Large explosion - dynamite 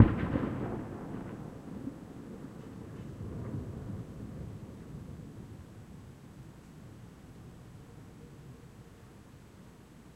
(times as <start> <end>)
0.0 4.7